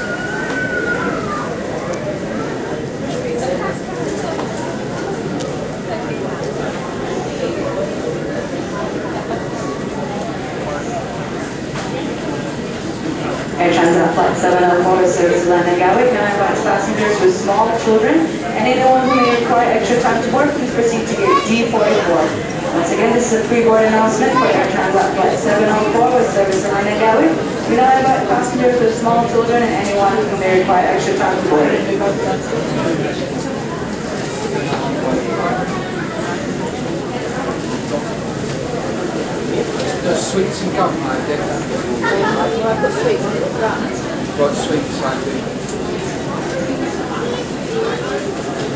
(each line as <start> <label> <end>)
0.0 people chatting 48.7
9.8 three announcements 33.3